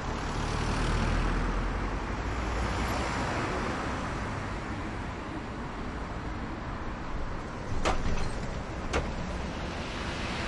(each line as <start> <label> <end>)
0.0 medium speed cars 10.4